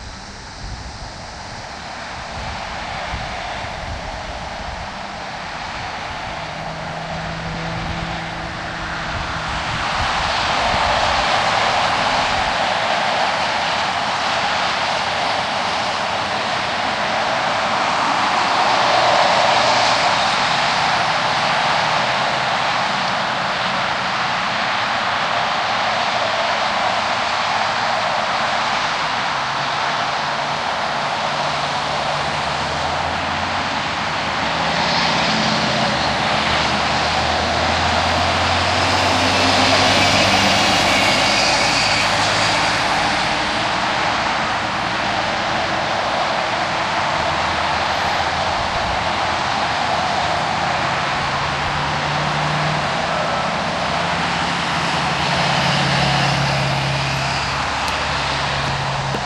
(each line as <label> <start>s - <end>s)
abnormal wind noise 0.0s - 59.2s
traffic 0.0s - 59.2s